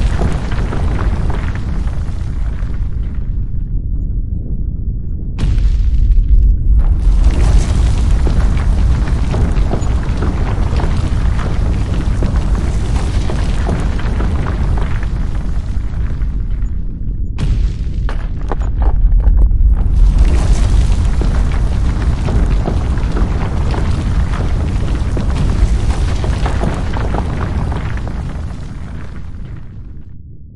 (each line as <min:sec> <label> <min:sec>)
0:00.0 rocks 0:03.5
0:00.0 earthquake sound 0:30.5
0:05.4 rocks 0:30.0